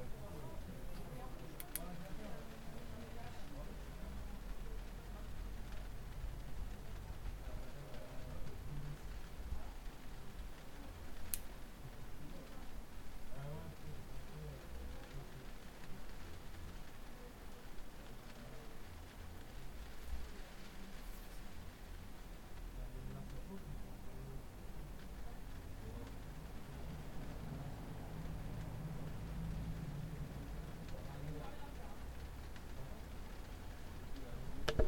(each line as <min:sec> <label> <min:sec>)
0:00.0 rain 0:34.8